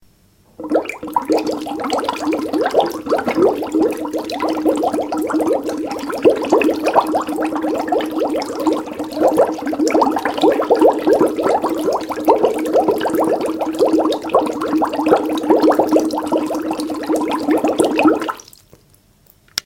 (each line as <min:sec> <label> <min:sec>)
0:00.6 bubbles produced by blowing into a straw 0:18.6